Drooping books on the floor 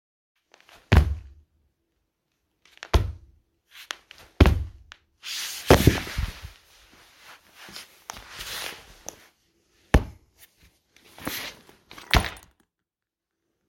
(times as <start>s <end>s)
5.2s 9.3s, 10.4s 12.5s